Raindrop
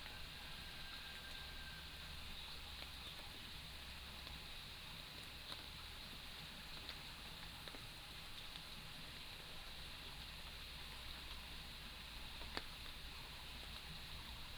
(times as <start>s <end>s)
5.2s 14.5s